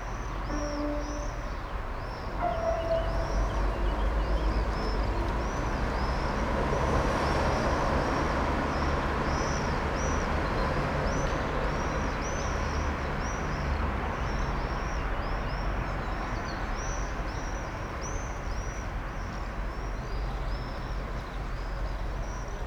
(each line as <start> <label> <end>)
0.2 car traffic 11.6
0.5 musicians tuning 1.8
2.4 musicians tuning 4.4